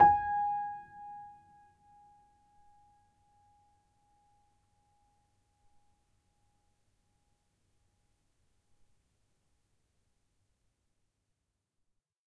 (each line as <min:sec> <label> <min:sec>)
0:00.0 upright choiseul piano 0:02.2